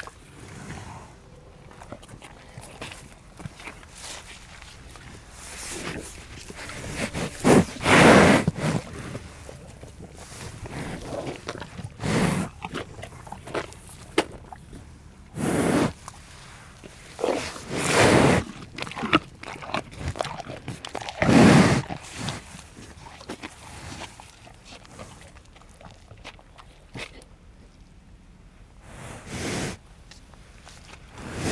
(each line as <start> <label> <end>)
0.0 cow is eating apples 31.5
5.3 cow was crying loudly 9.0